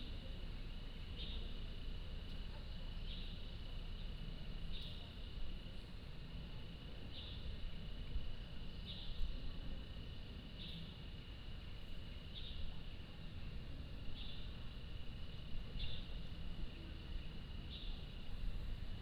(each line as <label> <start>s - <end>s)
Birdsong 15.8s - 16.2s